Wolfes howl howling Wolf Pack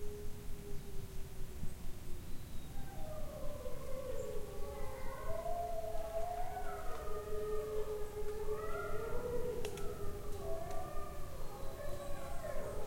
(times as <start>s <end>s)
2.7s 12.8s